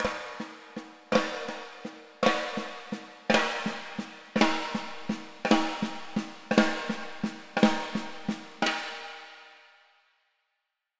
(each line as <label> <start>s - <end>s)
snare 0.0s - 9.2s